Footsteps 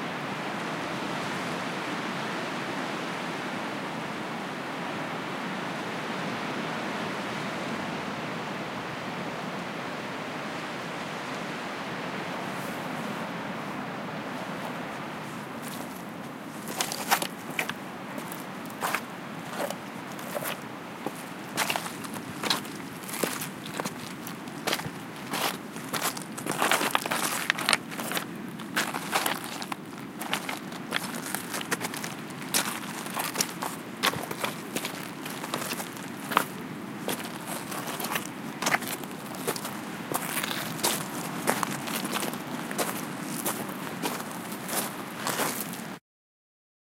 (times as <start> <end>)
16.6 45.8